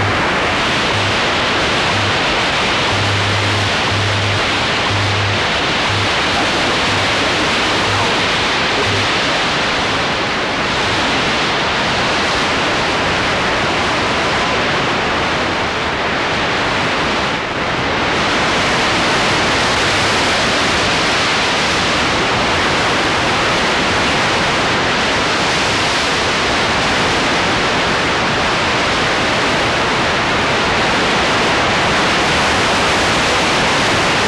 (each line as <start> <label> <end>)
0.0 Radio Static 10.9